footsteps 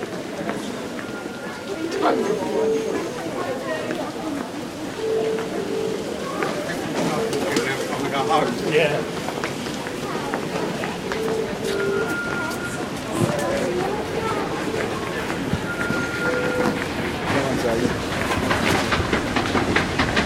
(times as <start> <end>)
9.1 20.2